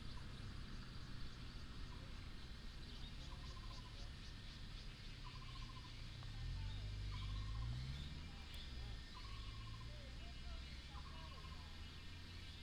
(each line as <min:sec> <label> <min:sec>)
0:00.0 Birds sound 0:12.6
0:05.5 traffic sound 0:12.5